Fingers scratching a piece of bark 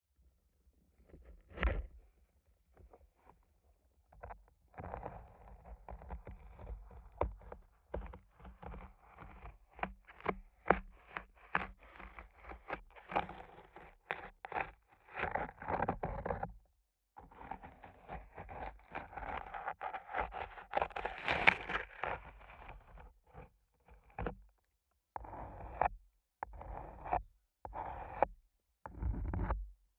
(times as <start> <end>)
4.1 16.6, 17.2 24.5, 25.2 28.3, 28.9 29.6